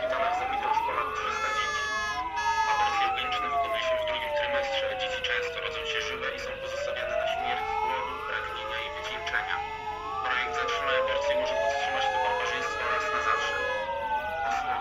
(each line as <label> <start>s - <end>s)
Anti-abortion protestors 0.0s - 14.8s
Sirens 0.0s - 14.8s